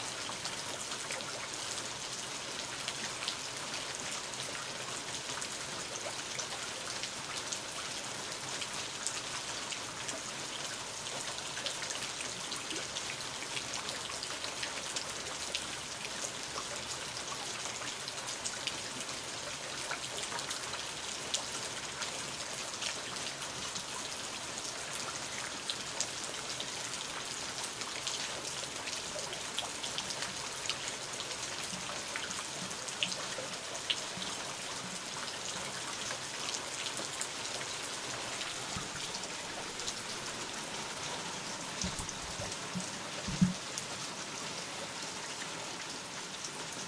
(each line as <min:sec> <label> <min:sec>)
0:00.0 rain 0:46.8